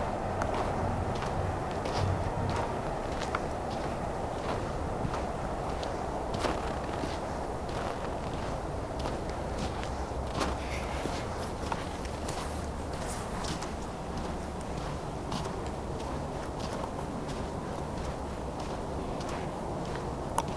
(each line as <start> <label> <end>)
0.0 steps on the stoney footway 20.5